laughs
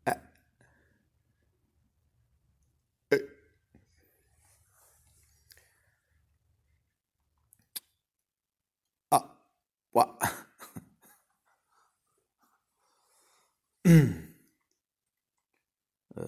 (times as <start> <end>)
10.2 11.3